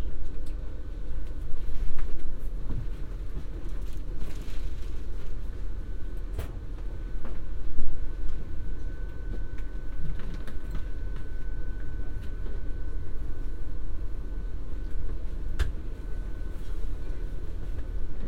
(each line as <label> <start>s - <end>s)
train 0.0s - 18.2s